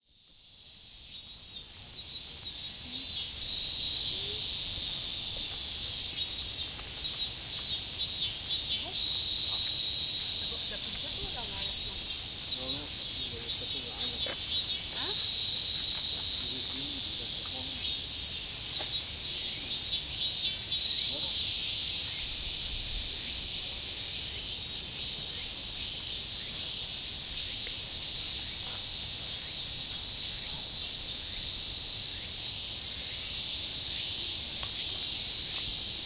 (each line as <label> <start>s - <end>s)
Crickets 0.0s - 36.0s